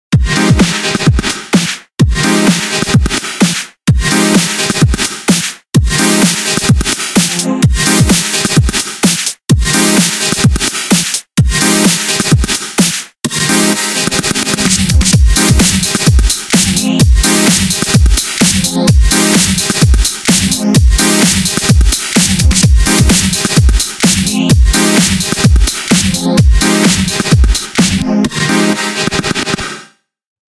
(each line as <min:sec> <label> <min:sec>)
0:00.3 snare 0:01.9
0:02.5 snare 0:03.8
0:04.4 snare 0:05.6
0:06.2 snare 0:07.5
0:07.2 bass 0:08.4
0:08.1 snare 0:09.4
0:10.0 snare 0:13.2
0:11.6 pads 0:29.8
0:12.8 bass 0:29.2
0:14.1 hats 0:28.0
0:16.4 snare 0:16.8
0:17.4 snare 0:18.7
0:19.3 snare 0:20.6
0:21.2 snare 0:24.3
0:25.8 snare 0:26.2
0:26.8 snare 0:28.1
0:28.9 snare 0:29.9